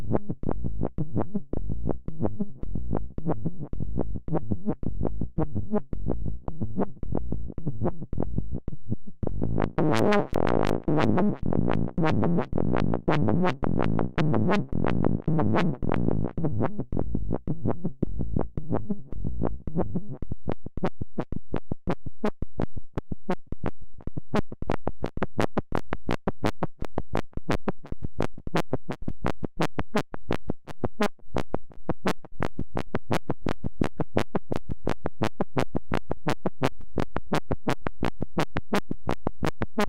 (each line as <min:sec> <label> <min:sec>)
0:09.3 long strange sounds and sequences 0:16.3